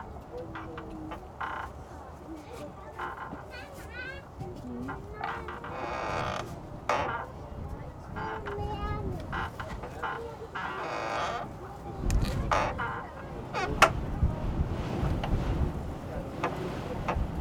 squeaking door 5.2 - 7.3
squeaking door 8.2 - 14.0

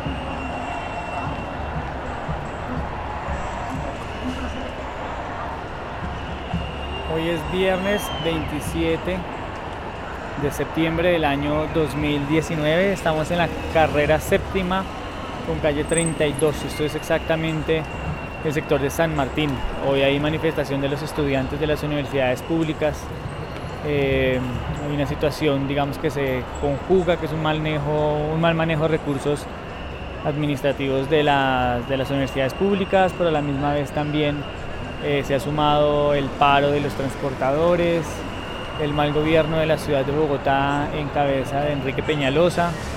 Manifestación social 0.0 - 42.9

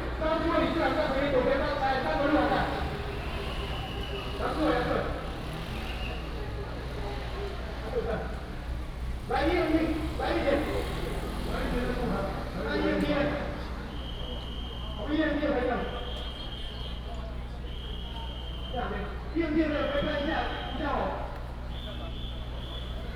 Traffic sound 0.0 - 23.1

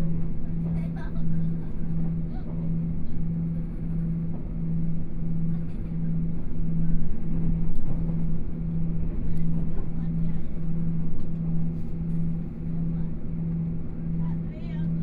Train noise 0.0 - 15.0

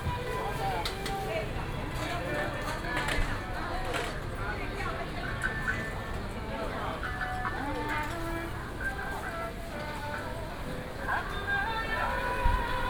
Walking in the night market 0.0 - 12.8

